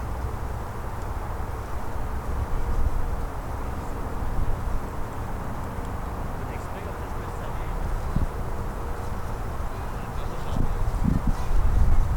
0.0s father with his two kids scalling the hill 12.1s

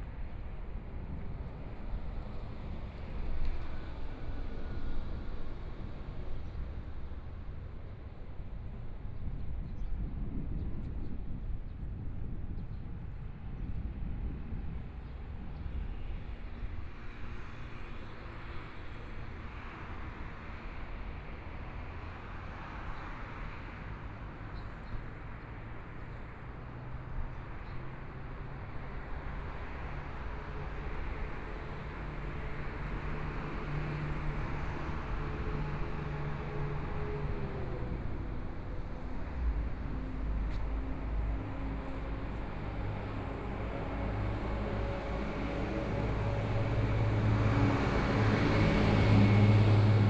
16.1s Traffic Sound 50.0s
22.0s walking on the Road 50.0s

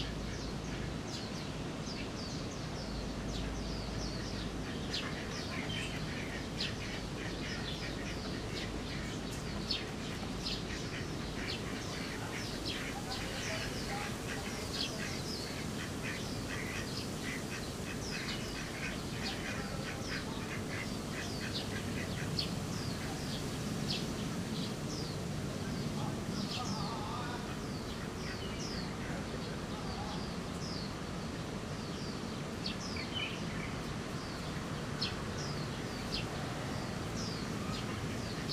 0.0s other birds 38.5s
3.2s ducks 31.0s
11.4s people 22.2s
31.9s ducks 38.5s

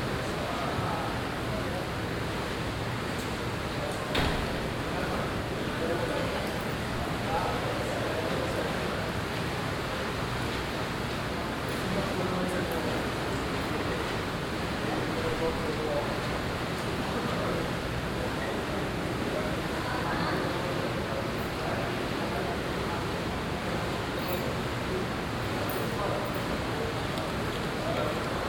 0.0s sounds of the bar 28.4s

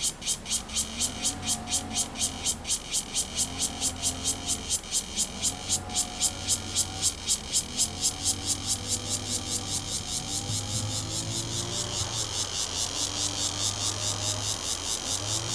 0.0s Cicadas sound 15.5s
0.0s Lawn mower 15.5s
8.3s Traffic Sound 14.6s

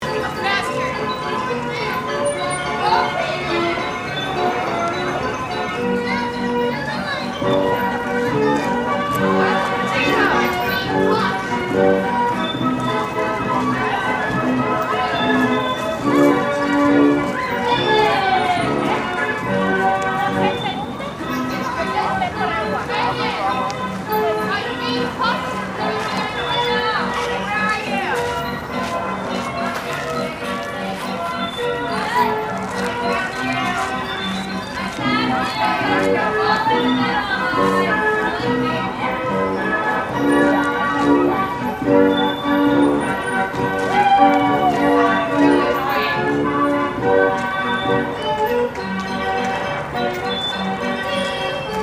0.0s carousel music 51.8s
0.0s bike ride 51.8s
15.0s reverse beeping sound from construction vehicles 16.0s
41.9s reverse beeping sound from construction vehicles 43.4s
50.0s reverse beeping sound from construction vehicles 50.7s

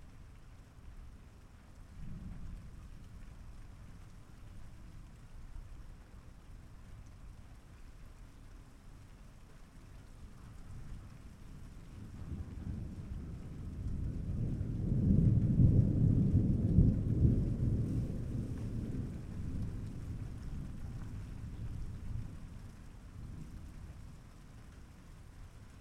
0.0s rain 25.8s
11.6s Thunder 24.1s

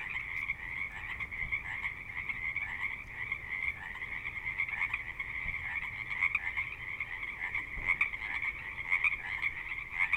0.0s Frogs 10.1s

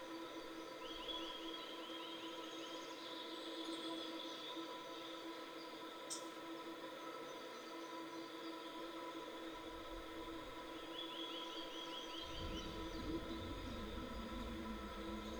12.2s abandoned bridge railing 15.3s

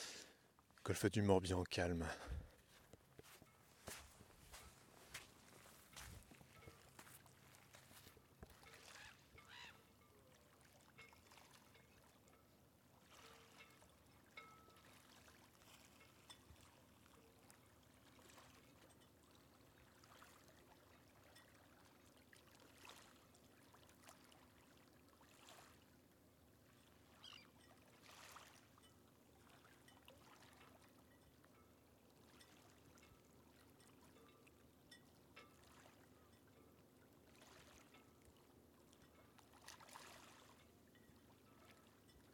0.0s claquements métalliques de mats de bateaux 42.3s
0.8s bateau à moteur au loin 2.4s

